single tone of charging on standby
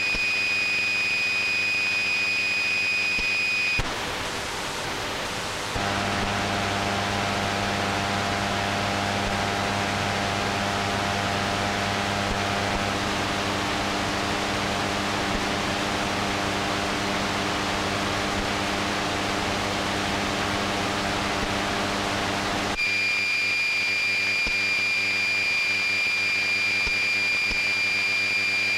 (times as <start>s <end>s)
22.8s 28.7s